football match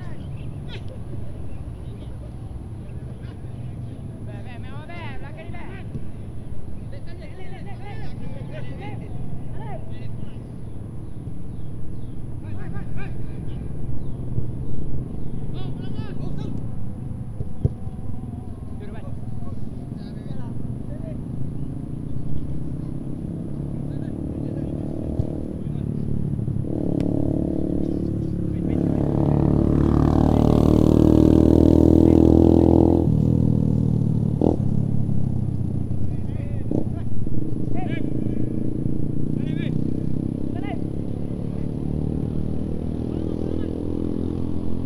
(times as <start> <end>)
0.0 21.7, 23.8 26.4, 36.0 39.7